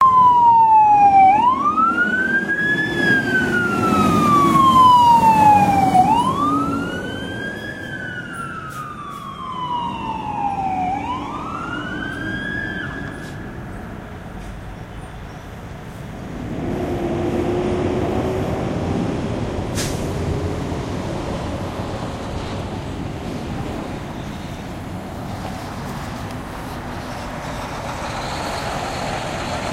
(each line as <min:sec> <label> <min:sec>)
0:00.0 Emergency Siren 0:14.4
0:00.0 Fire Truck Passing 0:29.7